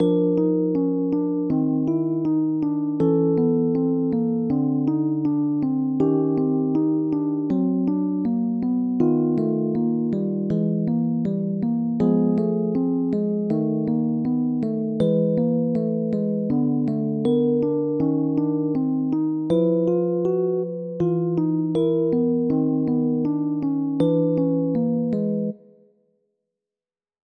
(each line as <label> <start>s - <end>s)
music 0.0s - 26.4s